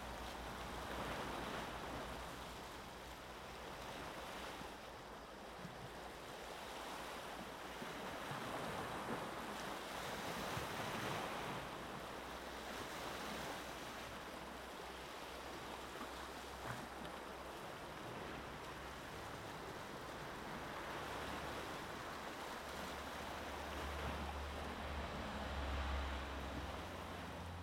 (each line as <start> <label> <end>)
0.0 Waves 27.6
23.8 Traffic 27.6